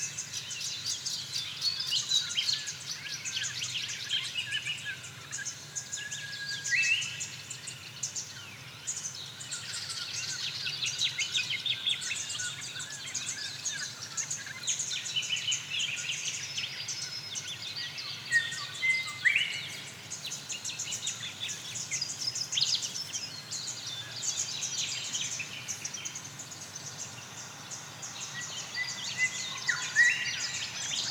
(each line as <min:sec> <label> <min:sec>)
0:07.3 Wollombi Morning Birds 0:31.1